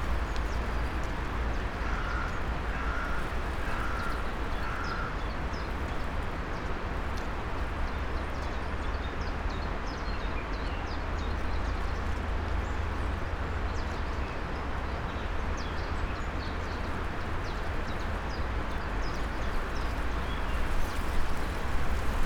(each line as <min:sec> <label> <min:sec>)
0:00.0 dry maple and poplar leaves 0:08.9
0:15.6 dry maple and poplar leaves 0:22.2